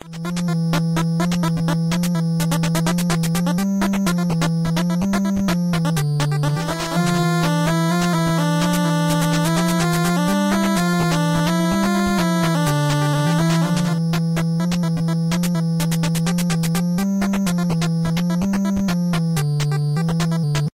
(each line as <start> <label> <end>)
0.0 8-Bit-Bossfight Music 20.7